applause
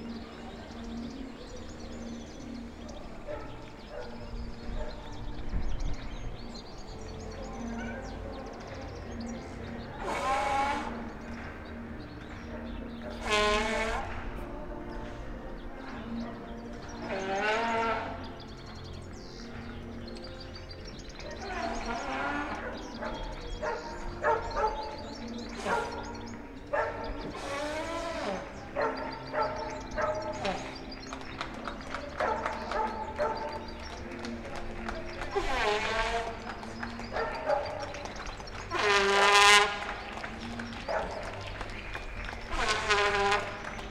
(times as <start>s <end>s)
30.3s 43.9s